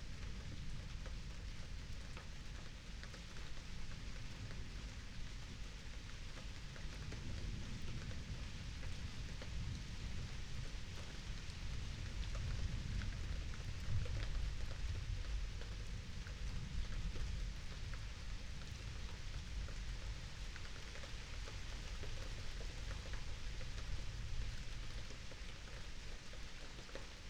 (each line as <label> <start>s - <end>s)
light rain 0.0s - 27.2s